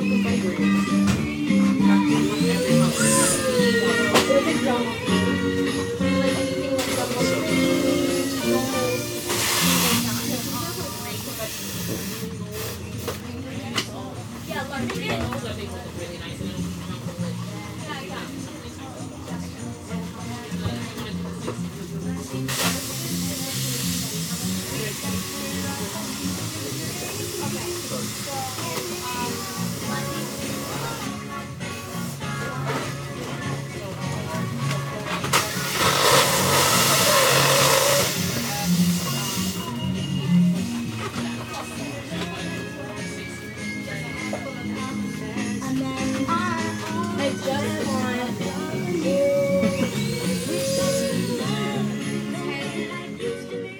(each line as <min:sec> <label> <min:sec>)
0:00.0 customer is trying to buy a specific kind of balloons 0:53.7
0:00.0 music playing in the background 0:53.7
0:02.2 balloons being filled 0:04.2
0:35.4 balloons being filled 0:39.7